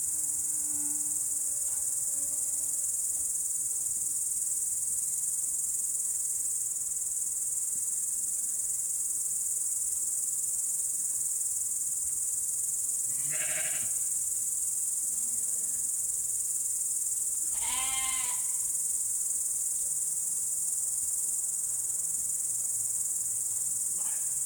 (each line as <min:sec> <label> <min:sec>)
0:00.0 evening crickets 0:24.4
0:17.6 sheep calling 0:18.5